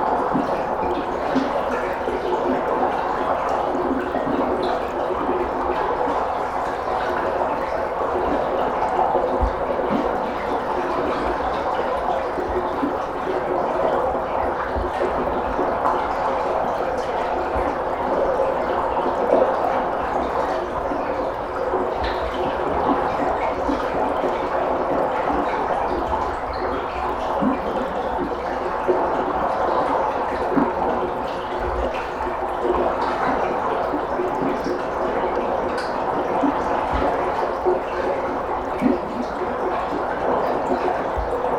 water flow recorded at an outlet of a big pipe 0:00.0 - 0:41.5

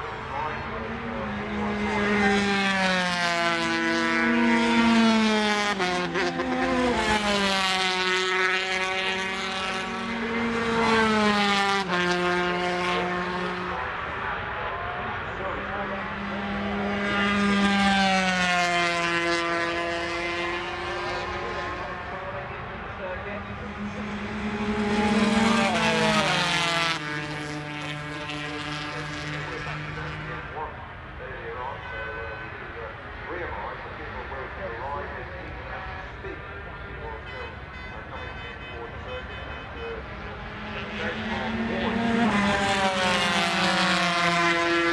125cc motorcycle warm up 0:40.6 - 0:42.3

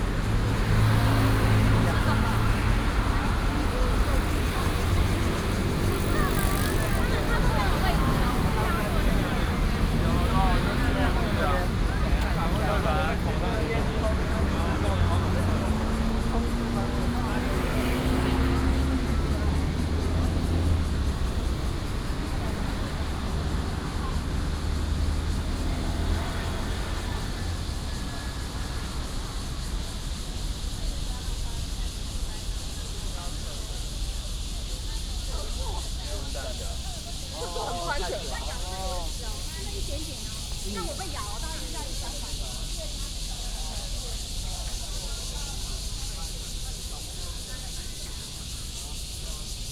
Walking in the university 0:00.0 - 0:30.4
Cicadas cry 0:00.0 - 0:49.7

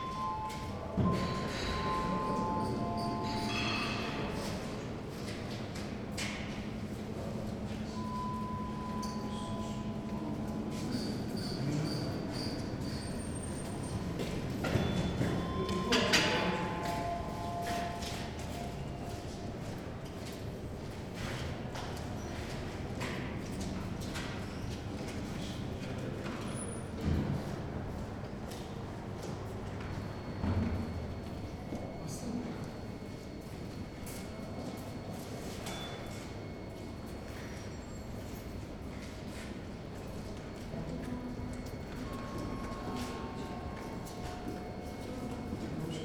6 elevators 0:00.0 - 0:22.2

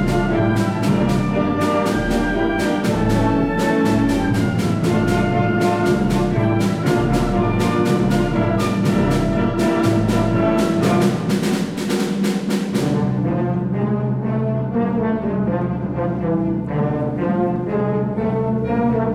Blasmusikkapelle 0:00.0 - 0:11.8

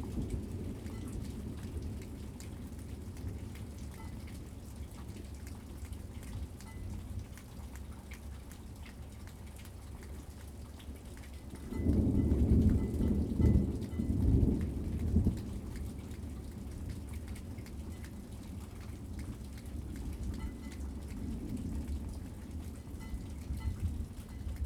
thunderstorm 0:11.6 - 0:17.1
thunderstorm 0:21.1 - 0:24.6

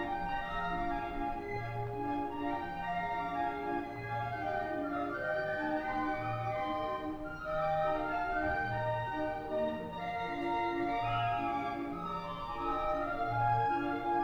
musician playing in rue henri regnault orgue de barbarie 0:00.0 - 0:14.2

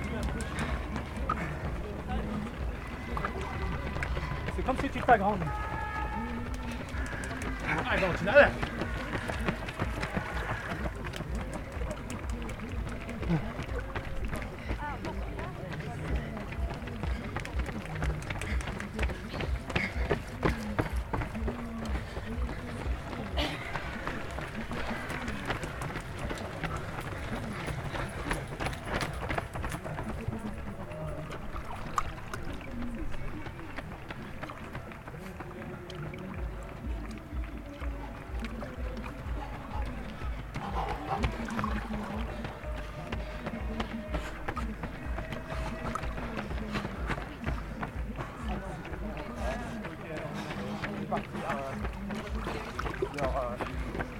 applaudissements du public 0:00.0 - 0:54.1
clapotis de l'eau 0:00.0 - 0:54.1
belles foulées des premiers concurrents 0:02.4 - 0:10.5

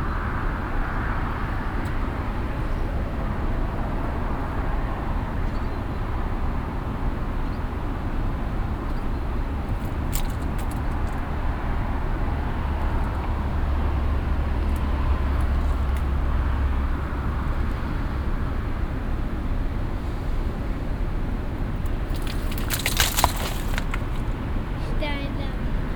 traffic from the nearby main street 0:00.0 - 0:25.9
loose slate stones inside the vineyard 0:21.7 - 0:24.9
voice of a child playing with the stones 0:22.0 - 0:25.6

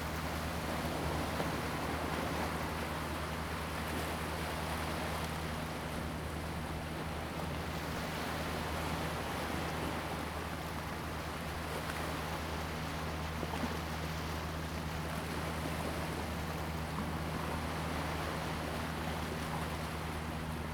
Waves 0:00.0 - 0:20.7

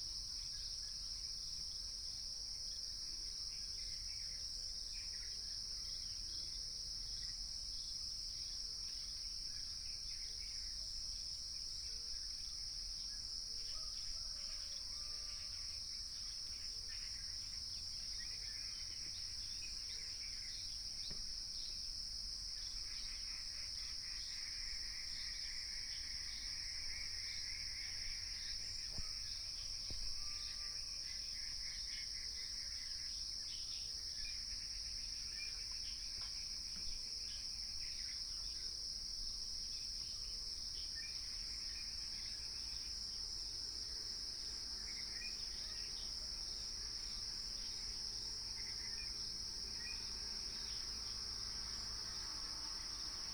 Cicadas 0:00.0 - 0:53.3

